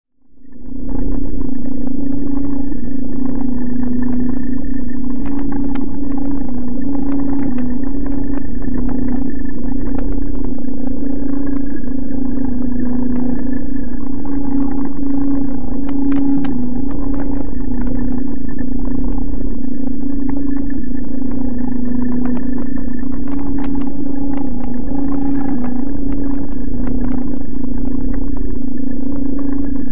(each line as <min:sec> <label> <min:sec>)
0:00.2 drone 0:29.9